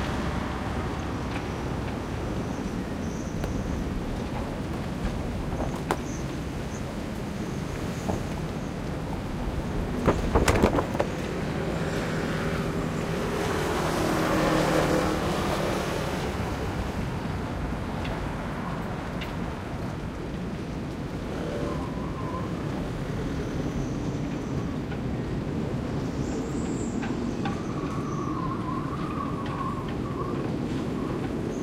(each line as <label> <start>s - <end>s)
wind sings 0.0s - 31.6s
the pontoons creak 9.9s - 11.4s